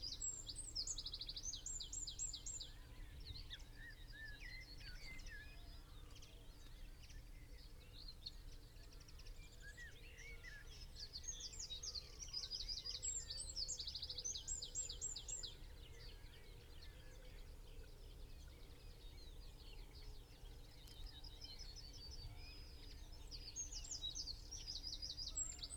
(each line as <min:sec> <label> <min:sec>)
0:00.0 background noise 0:25.7